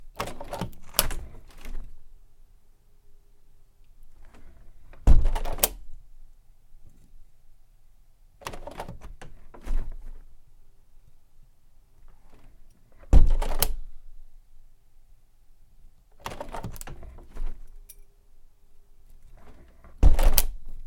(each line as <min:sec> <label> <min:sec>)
0:00.0 opening and closing a window 0:02.2
0:03.9 opening and closing a window 0:06.2
0:08.4 opening and closing a window 0:10.6
0:11.9 opening and closing a window 0:14.3
0:16.0 opening and closing a window 0:17.9
0:19.1 opening and closing a window 0:20.8